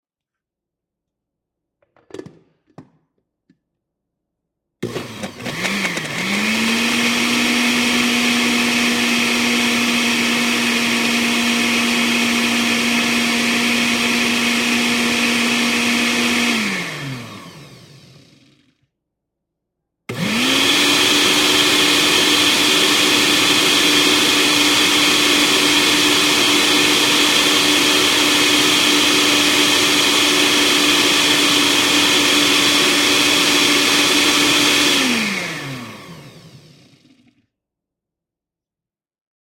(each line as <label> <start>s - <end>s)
cooking blender 4.8s - 18.9s
cooking blender 20.1s - 37.5s